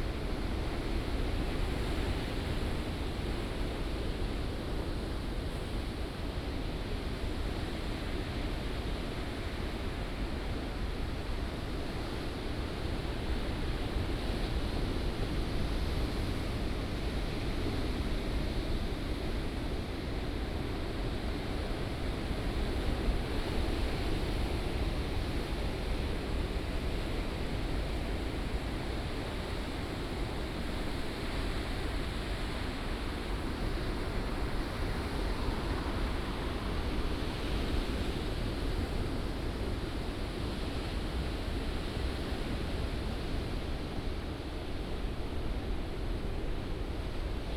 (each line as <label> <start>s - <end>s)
waves 0.0s - 47.5s